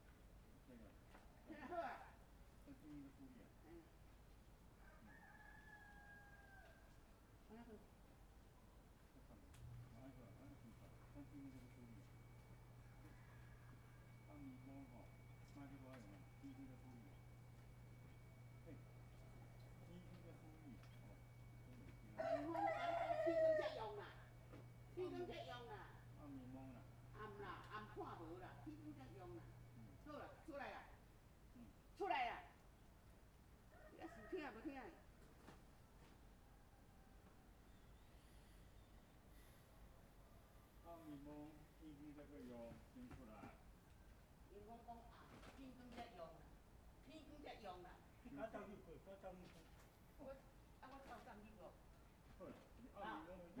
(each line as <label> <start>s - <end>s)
Neighbor's voice 9.4s - 32.5s